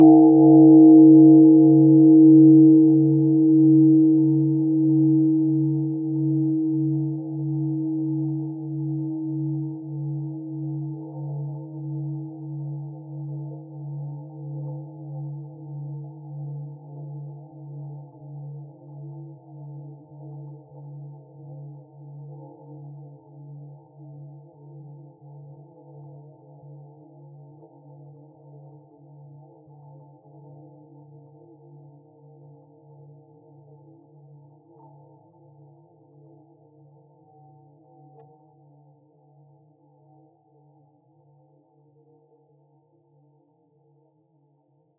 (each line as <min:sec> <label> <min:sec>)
0:00.0 temple bell 0:15.2